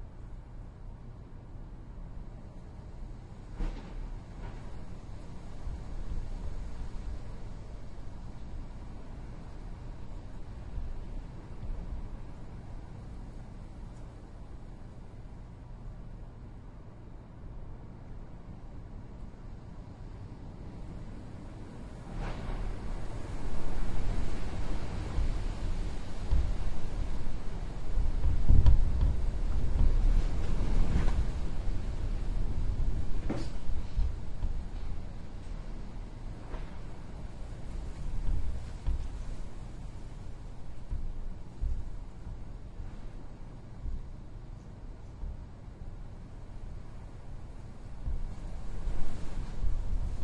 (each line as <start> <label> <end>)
0.0 wind 50.2
22.2 Rattling window 43.1